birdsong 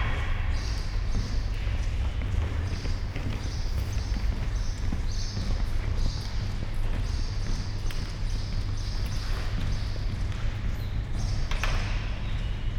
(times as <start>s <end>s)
0.0s 6.4s